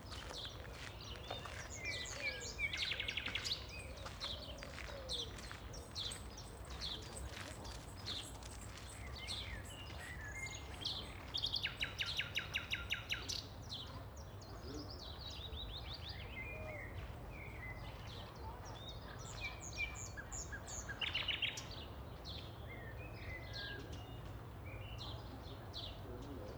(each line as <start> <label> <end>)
0.0 Passing walkers 11.3
5.4 cyclists on gravel 9.8